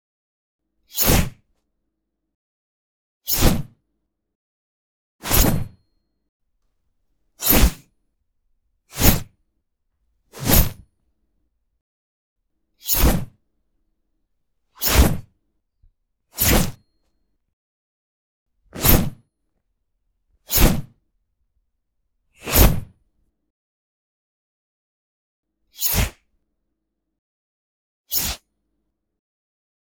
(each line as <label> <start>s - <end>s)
silverware fork slide on carving knife 5.2s - 5.6s
knife slide on carving knife 5.2s - 5.7s
silverware fork slide on carving knife 7.4s - 7.8s
knife slide on carving knife 7.4s - 7.8s
heavy exaggerating sword swing sounds 7.4s - 7.8s
knife slide on carving knife 8.9s - 9.3s
silverware fork slide on carving knife 9.0s - 9.3s
heavy exaggerating sword swing sounds 10.4s - 10.8s
knife slide on carving knife 10.4s - 10.8s
silverware fork slide on carving knife 10.4s - 10.8s
knife slide on carving knife 12.8s - 13.3s
silverware fork slide on carving knife 12.8s - 13.3s
silverware fork slide on carving knife 14.8s - 15.2s
knife slide on carving knife 14.8s - 15.2s
knife slide on carving knife 16.4s - 16.8s
silverware fork slide on carving knife 16.4s - 16.8s